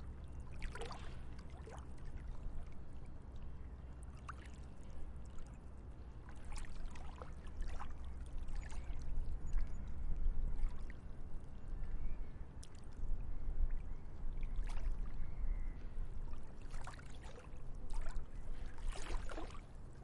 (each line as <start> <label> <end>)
0.0 small waves 20.0